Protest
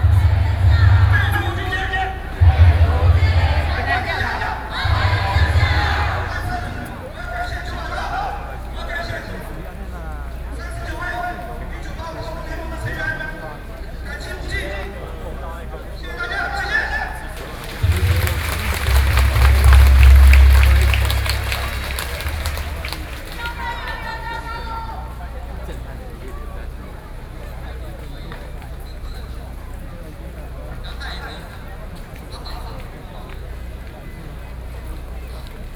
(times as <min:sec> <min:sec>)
0:00.0 0:07.9, 0:17.2 0:24.5